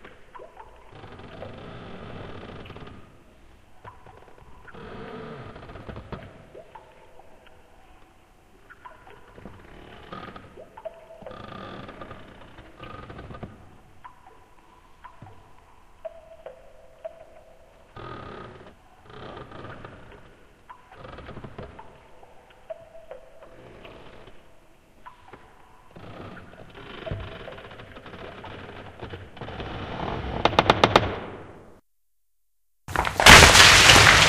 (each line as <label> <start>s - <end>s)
rocking fall 32.9s - 34.2s